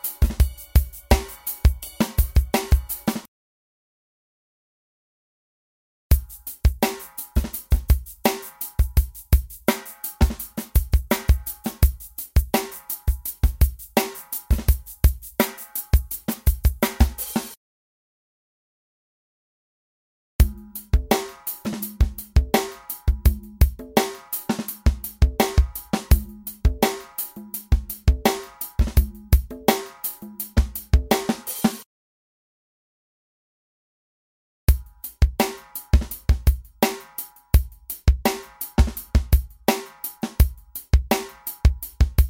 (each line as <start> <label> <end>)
0.0 drums 3.3
6.1 drums 17.6
20.4 drums 31.9
34.7 drums 42.2